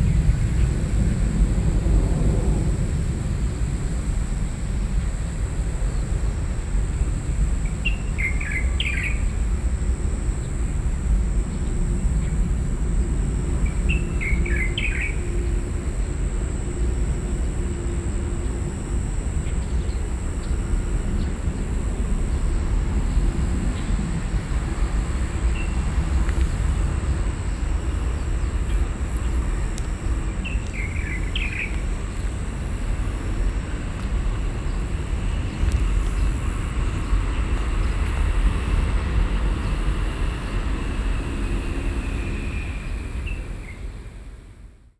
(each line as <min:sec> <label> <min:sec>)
0:25.4 birds 0:43.9